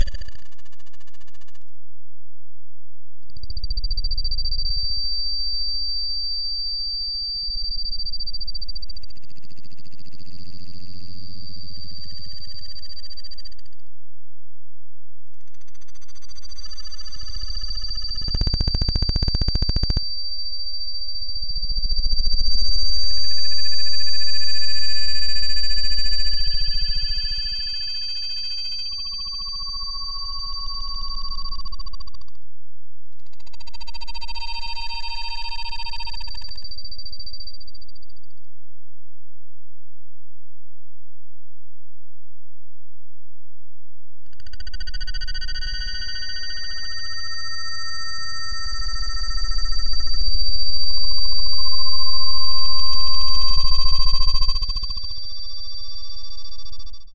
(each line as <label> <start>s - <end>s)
Data Tones 16.5s - 20.1s